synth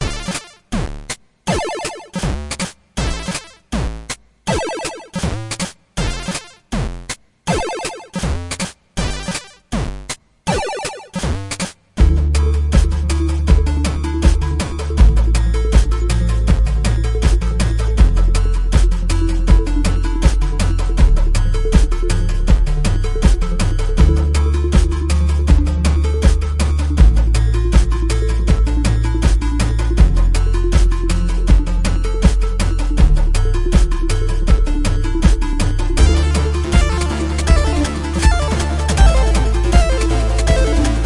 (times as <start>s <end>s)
1.5s 2.4s, 4.5s 5.3s, 7.5s 8.3s, 10.5s 11.3s, 35.0s 41.0s